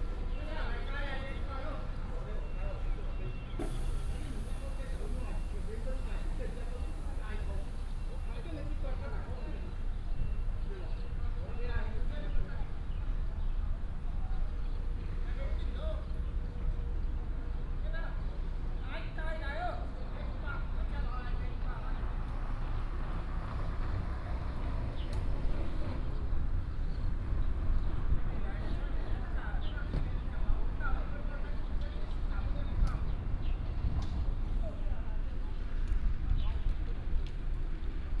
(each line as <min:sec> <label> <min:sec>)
0:00.0 Taxi driver 0:12.5
0:00.0 Traffic sound 0:38.2